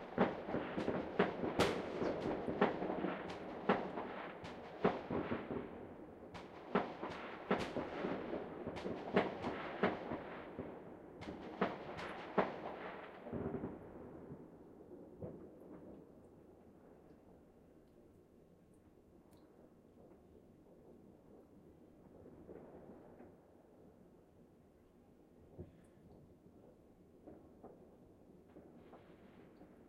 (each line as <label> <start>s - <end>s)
fireworks 0.0s - 16.5s
fireworks 22.0s - 23.8s
fireworks 27.2s - 29.8s